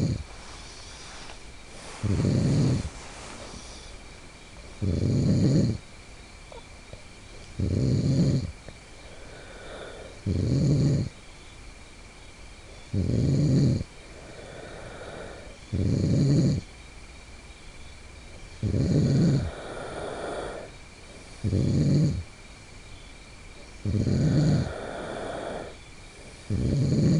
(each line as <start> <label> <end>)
0.0 Friend Snoring in Tent 4.0
4.6 Friend Snoring in Tent 5.9
6.5 Friend Snoring in Tent 11.2
12.7 Friend Snoring in Tent 16.7
18.5 Friend Snoring in Tent 22.4
23.6 Friend Snoring in Tent 27.1